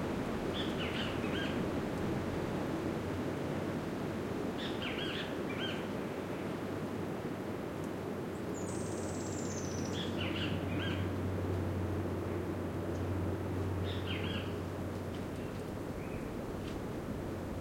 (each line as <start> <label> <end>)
0.0 wind 17.6
0.5 birdsong 1.6
4.6 birdsong 5.9
8.4 birdsong 11.1
13.8 birdsong 14.6
15.3 birdsong 16.4